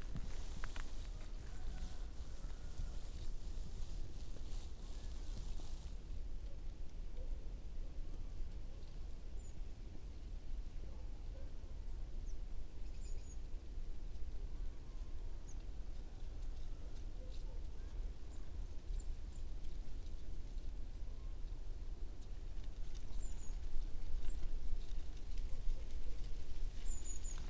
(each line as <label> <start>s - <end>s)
branches with dry leaves 0.0s - 10.6s
rooster 1.0s - 3.2s
branches with dry leaves 12.0s - 27.4s
rooster 16.0s - 18.4s